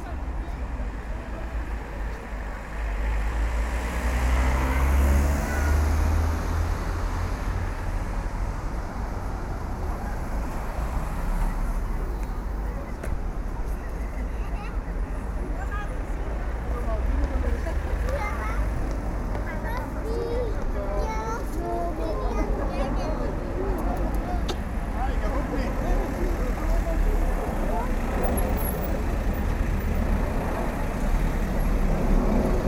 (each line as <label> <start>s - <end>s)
people talking 12.0s - 29.6s